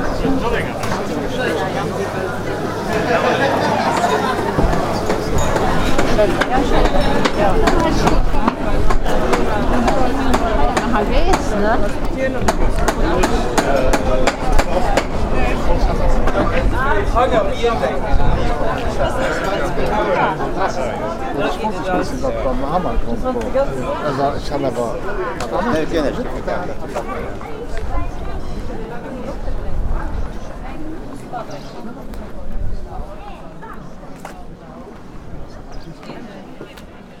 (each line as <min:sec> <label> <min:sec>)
0:00.0 many voices 0:37.2
0:00.0 walking people 0:37.2